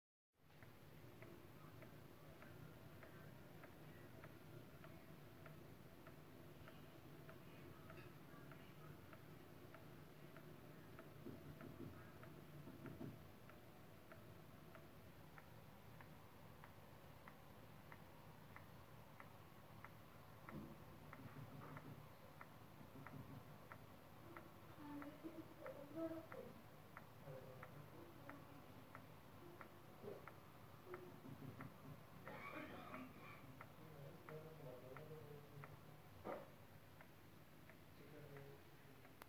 human voices in the background 0:32.2 - 0:36.5

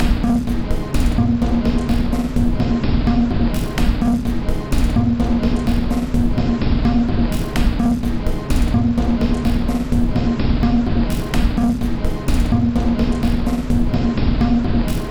Drum Loop 0:00.0 - 0:15.1

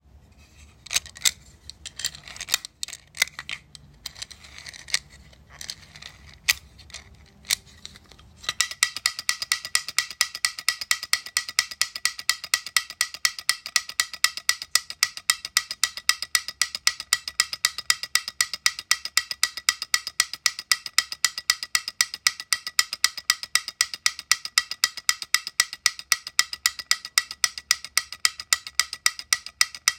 wind-up chattering novelty toy 0:08.5 - 0:29.9

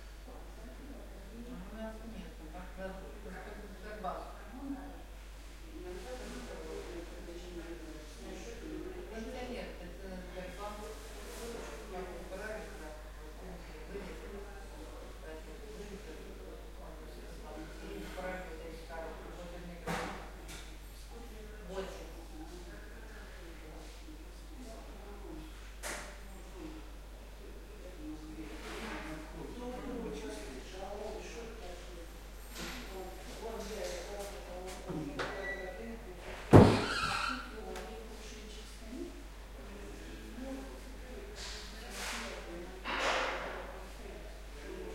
old ladies & gents calmly talking 0:00.0 - 0:44.9
door closes 0:36.5 - 0:37.4

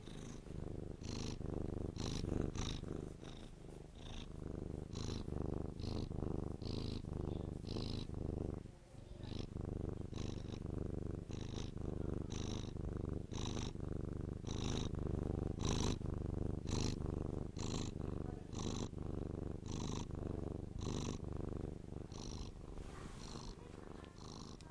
cat 0:11.4 - 0:12.8
cat 0:22.1 - 0:24.7

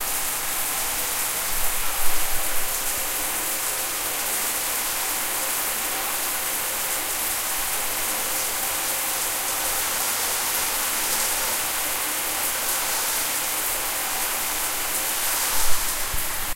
shower's running water 0:00.0 - 0:16.5

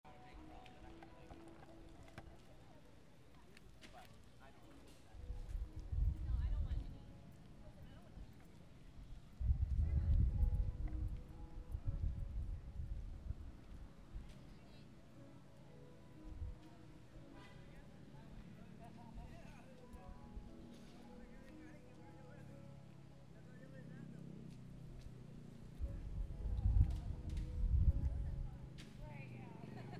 music 0:00.0 - 0:29.9
conversations 0:00.1 - 0:11.7
conversations 0:13.8 - 0:29.9

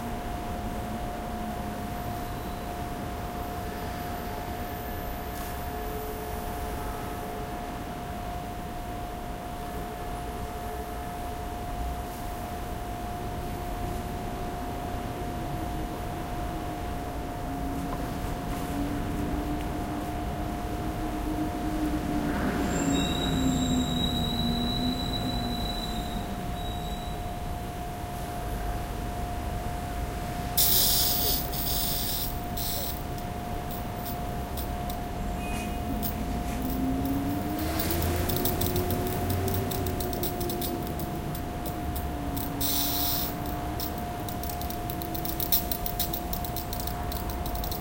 Bus 0:00.0 - 0:44.2
Traffic in the background 0:00.0 - 0:47.8
Street cleaner with high pressure water 0:30.5 - 0:47.8

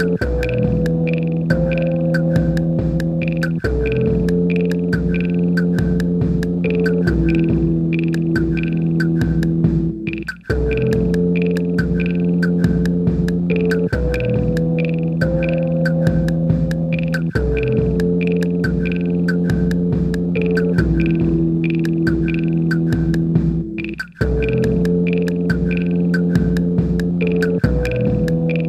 drumcomputer 0:00.0 - 0:28.6

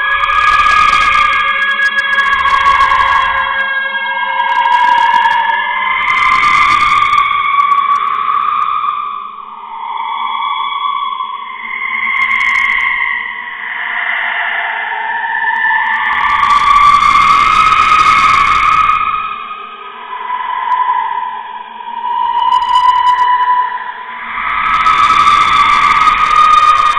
ghost opera sound 0:00.0 - 0:26.9

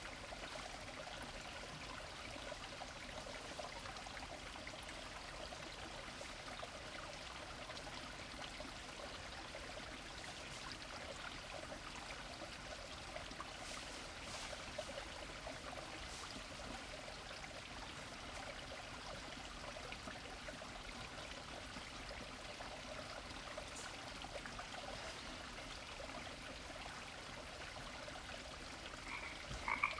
stream 0:00.0 - 0:29.9
frogs 0:29.0 - 0:29.9

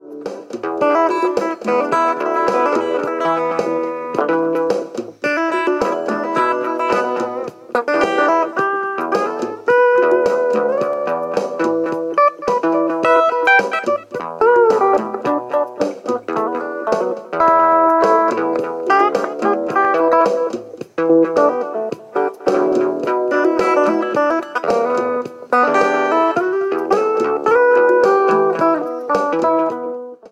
lead guitar high point 0:00.0 - 0:30.2

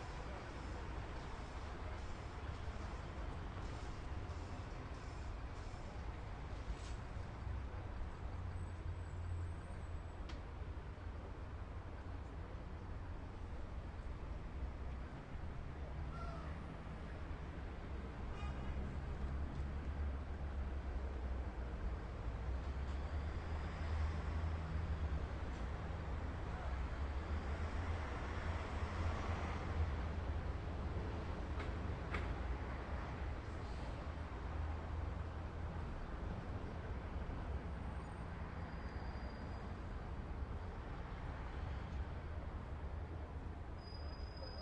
street in distance 0:00.0 - 0:44.6
train 0:00.0 - 0:44.6
workers are washing bridge 0:00.0 - 0:07.0

